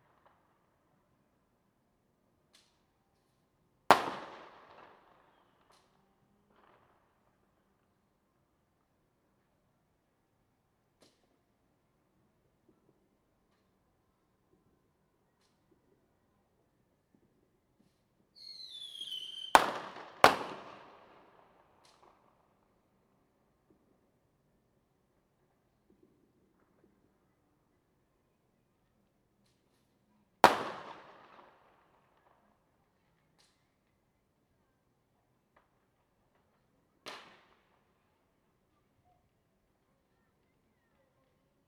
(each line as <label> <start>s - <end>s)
Firecrackers 2.5s - 7.6s
Firecrackers 17.8s - 22.6s
Firecrackers 30.4s - 32.4s
Firecrackers 35.5s - 37.8s